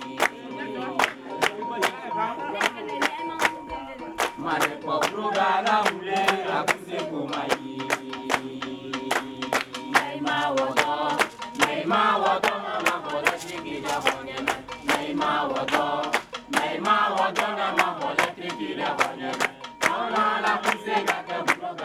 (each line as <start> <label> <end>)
0.0 Dance Group practising 21.8